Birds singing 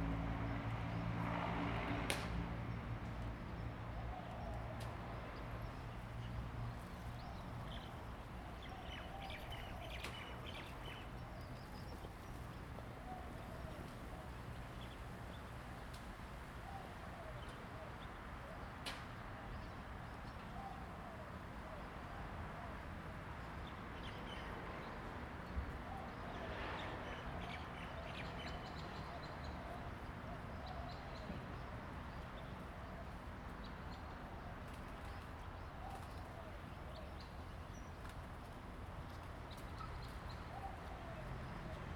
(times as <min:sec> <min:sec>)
0:03.6 0:15.6